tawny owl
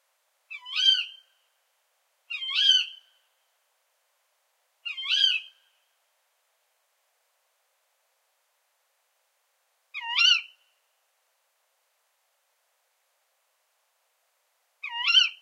0.5s 1.4s, 2.3s 3.2s, 4.8s 5.8s, 9.9s 10.7s, 14.8s 15.4s

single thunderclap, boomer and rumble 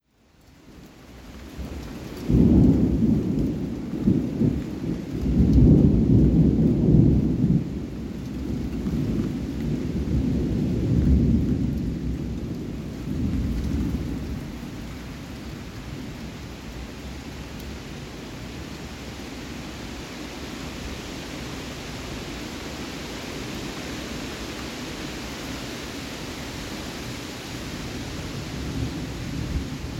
2.2s 14.8s

